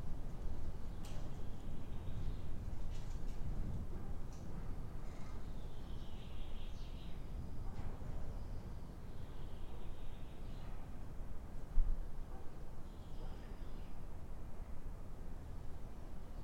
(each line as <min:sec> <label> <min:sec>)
0:00.0 wind plays with the collapsing roof construction 0:06.3
0:07.3 wind plays with the collapsing roof construction 0:09.1